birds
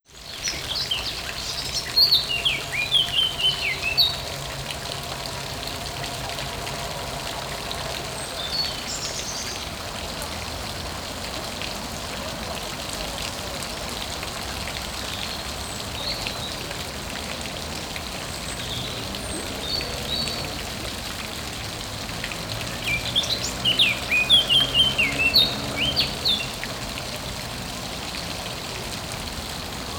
22.4s 26.9s

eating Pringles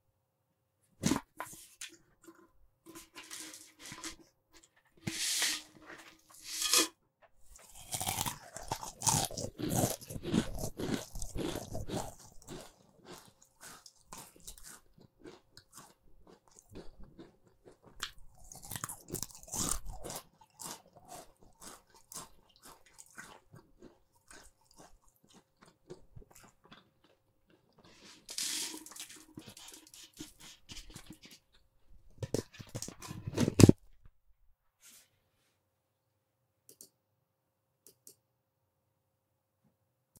7.5s 31.6s

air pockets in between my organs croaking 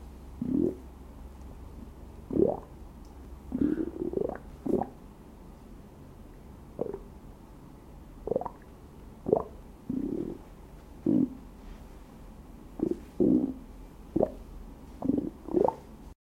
0.4s 0.8s, 3.5s 5.0s, 9.3s 10.4s, 11.0s 11.4s, 12.8s 13.6s, 15.0s 15.8s

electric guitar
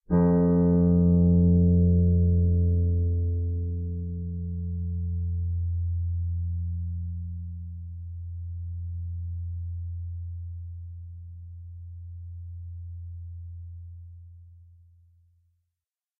0.0s 7.5s

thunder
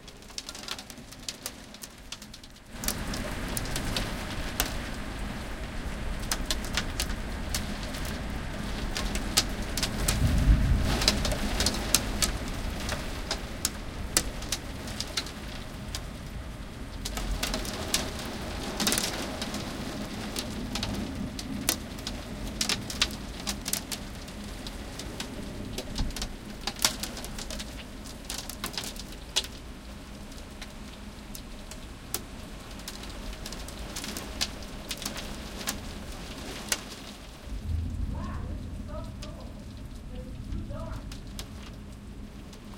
9.9s 12.6s, 37.4s 41.8s

